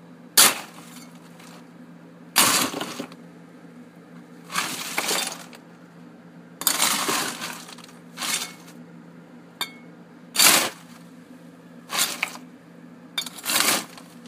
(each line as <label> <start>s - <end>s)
dropping lots of ice in a big ice machine 0.4s - 1.7s
dropping lots of ice in a big ice machine 2.4s - 3.2s
crunch 4.5s - 5.6s
dropping lots of ice in a big ice machine 4.5s - 5.6s
crunch 6.6s - 8.8s
dropping lots of ice in a big ice machine 6.6s - 8.8s
dropping lots of ice in a big ice machine 10.4s - 11.0s
dropping lots of ice in a big ice machine 11.9s - 12.5s
dropping lots of ice in a big ice machine 13.2s - 14.2s
crunch 13.2s - 14.2s